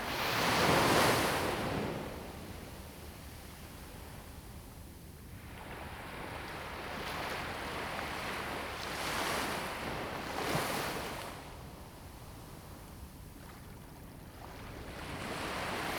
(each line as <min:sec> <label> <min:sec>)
0:13.2 waves 0:15.9